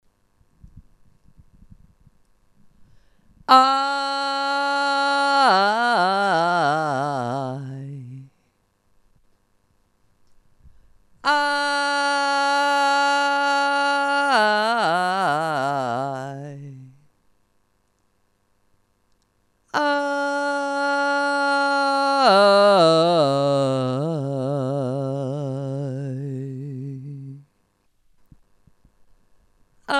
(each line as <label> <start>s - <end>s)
singing 3.5s - 8.3s
singing 11.2s - 17.0s
singing 19.7s - 27.5s